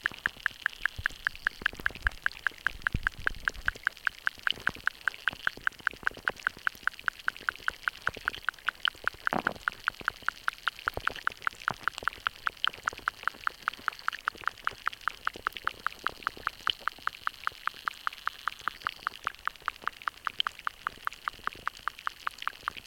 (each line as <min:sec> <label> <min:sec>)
0:00.0 small shallow stream 0:22.8
0:00.0 underwater life 0:22.8